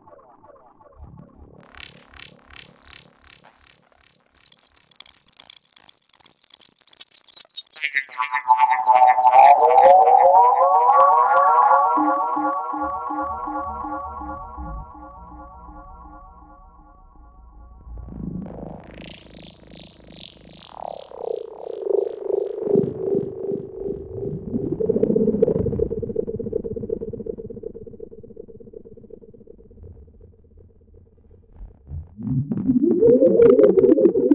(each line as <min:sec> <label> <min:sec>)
0:08.7 drone 0:34.3